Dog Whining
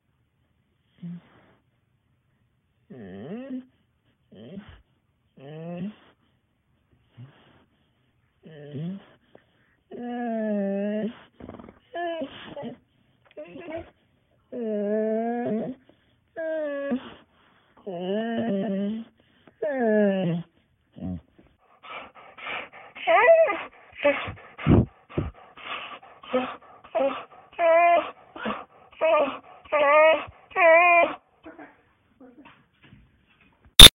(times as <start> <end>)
9.9 17.2, 17.8 21.2, 21.9 32.5